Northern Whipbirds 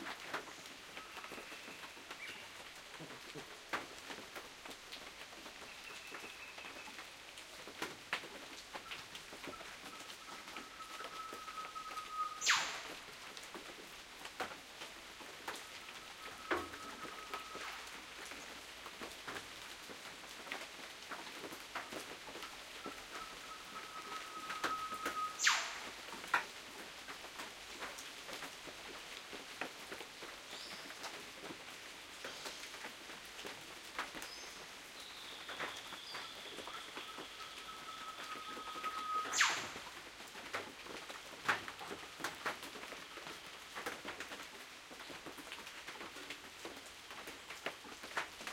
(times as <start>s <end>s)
10.2s 13.0s, 23.2s 26.0s, 38.2s 40.0s